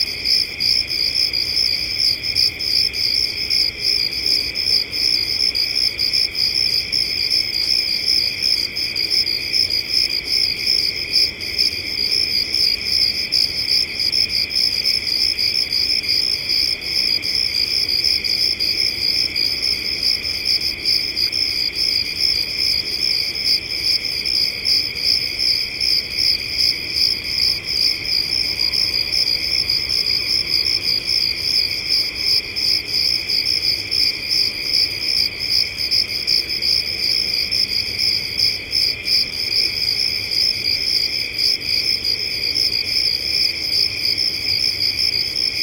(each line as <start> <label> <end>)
0.0 crickets 45.6